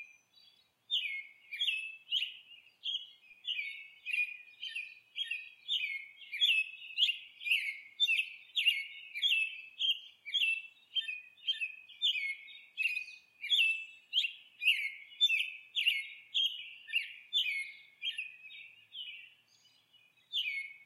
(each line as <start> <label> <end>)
0.0 Cardinals 20.8
0.0 Mockingbirds 20.8